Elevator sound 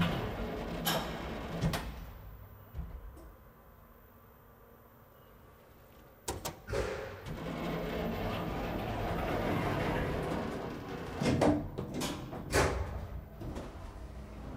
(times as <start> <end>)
0.0 3.3, 6.7 14.5